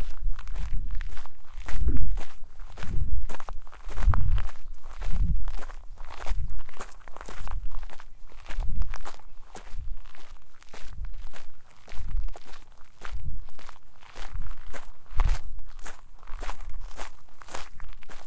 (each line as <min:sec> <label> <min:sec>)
0:00.0 birdsong 0:00.8
0:00.0 Footsteps on gravel 0:18.2